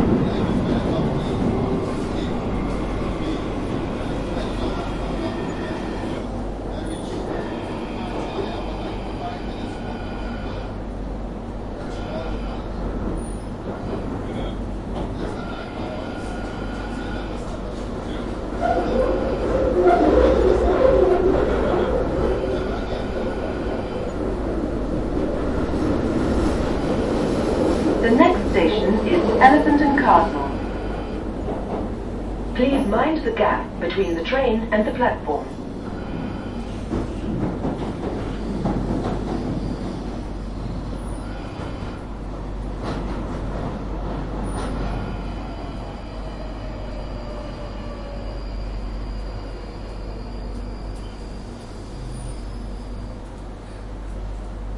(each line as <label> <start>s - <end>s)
passengers 0.0s - 54.7s